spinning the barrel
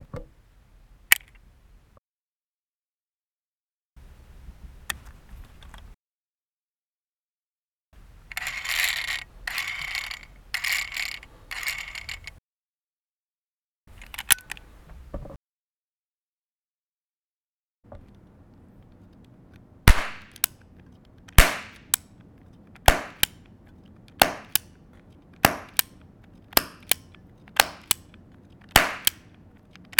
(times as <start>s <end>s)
8.4s 12.4s, 18.0s 29.9s